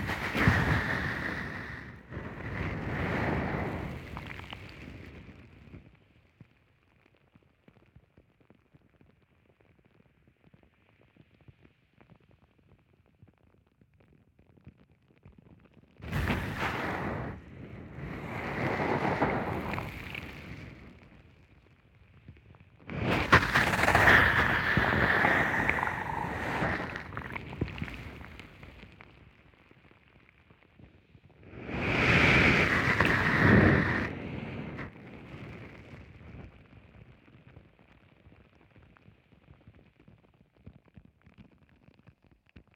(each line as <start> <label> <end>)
0.0 Waves 5.1
0.0 micro contacts being carried in the waves and in the sand 5.8
16.0 Waves 21.0
16.0 micro contacts being carried in the waves and in the sand 21.2
22.9 micro contacts being carried in the waves and in the sand 29.1
22.9 Waves 28.9
31.4 micro contacts being carried in the waves and in the sand 36.5
31.5 Waves 35.0